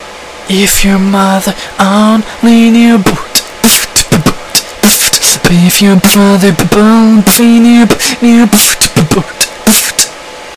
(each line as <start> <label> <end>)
1.8 beatboxing 10.2